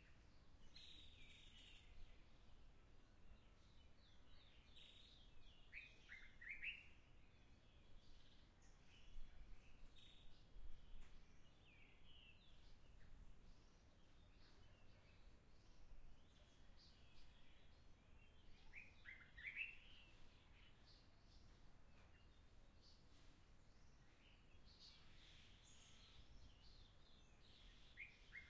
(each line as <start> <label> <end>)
0.0 soft winds 28.4